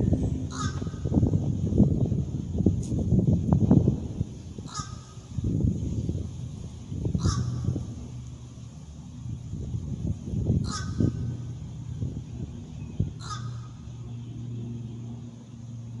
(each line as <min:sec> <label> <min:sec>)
0:00.5 fish crow 0:01.1
0:04.6 fish crow 0:05.2
0:07.2 fish crow 0:07.7
0:10.6 fish crow 0:11.2
0:13.2 fish crow 0:13.8